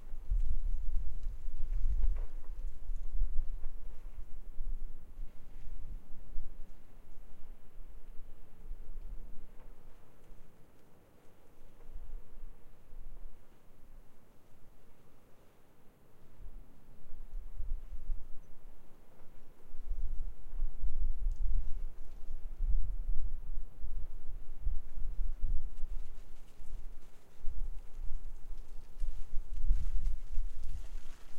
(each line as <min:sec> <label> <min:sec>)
0:00.0 Wind 0:31.3